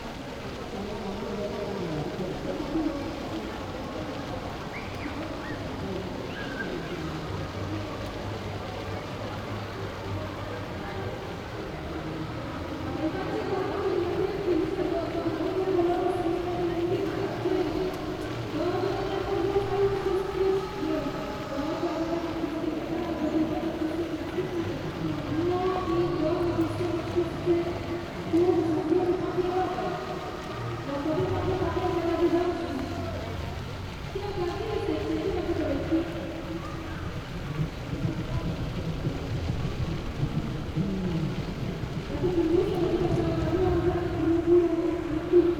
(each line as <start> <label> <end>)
0.0 echoes 45.5